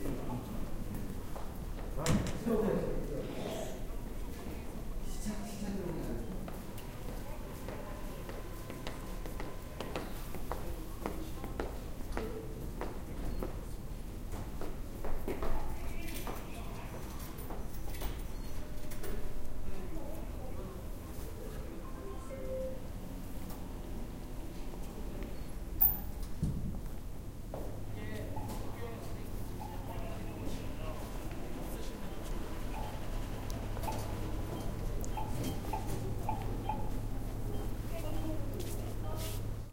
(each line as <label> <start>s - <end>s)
footsteps 6.4s - 13.6s
Sound from the ATM 28.2s - 39.7s
footsteps 33.7s - 39.5s
talking 33.8s - 38.5s